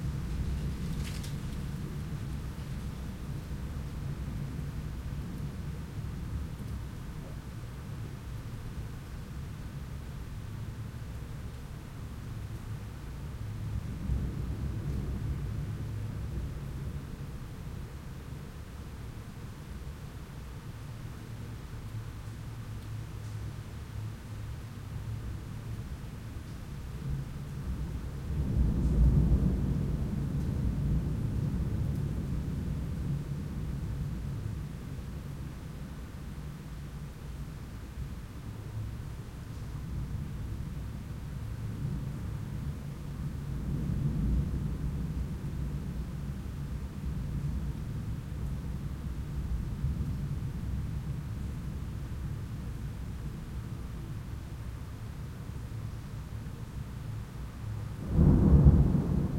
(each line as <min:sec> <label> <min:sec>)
0:27.7 Distant Thunder 0:35.0
0:41.7 Distant Thunder 0:50.9
0:57.7 Distant Thunder 0:59.3